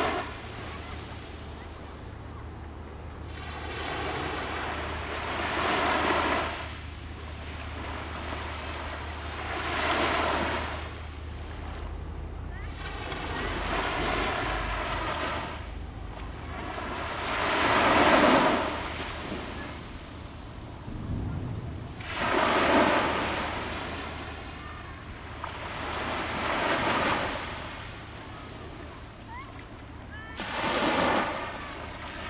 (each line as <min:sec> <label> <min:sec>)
0:00.0 waves 0:32.2